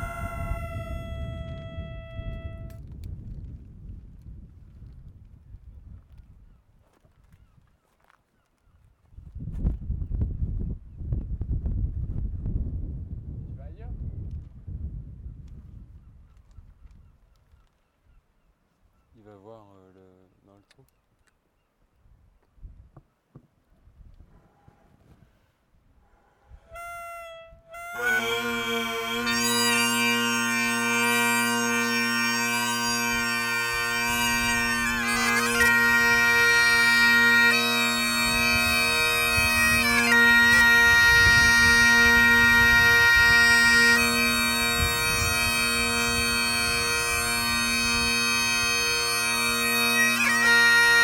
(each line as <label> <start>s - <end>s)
Bagpipes player 0.0s - 2.8s
Bagpipes player 26.7s - 51.0s